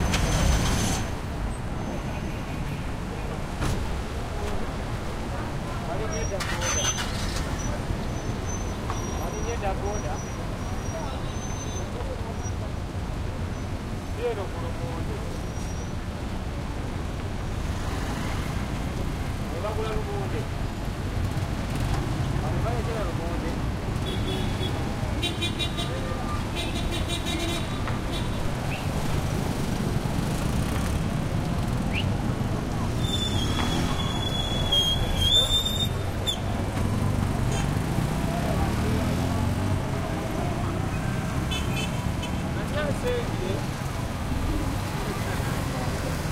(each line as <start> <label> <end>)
0.0 cars 46.3
26.6 throaty motorcycles 46.3